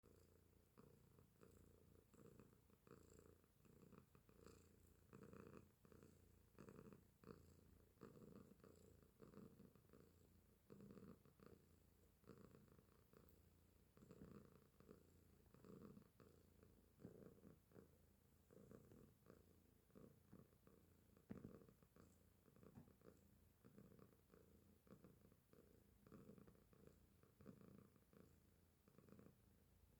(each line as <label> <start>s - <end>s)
Purring Tomcat 0.0s - 29.6s